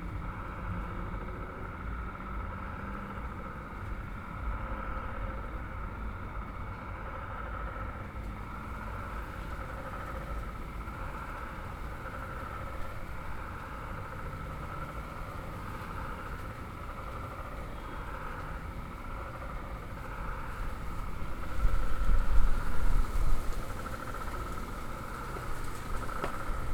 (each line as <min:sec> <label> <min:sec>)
0:00.0 urban hum 0:26.7
0:00.2 toads 0:26.7